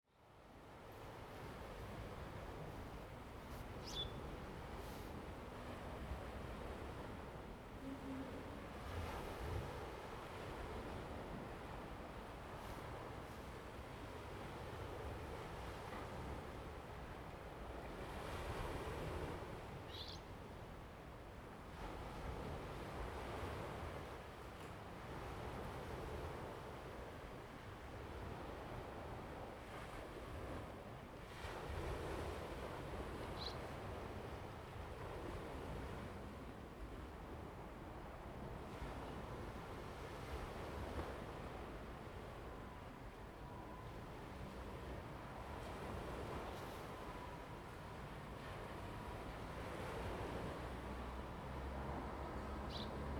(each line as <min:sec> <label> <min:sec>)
0:00.3 waves 0:53.1
0:50.8 traffic sound 0:53.1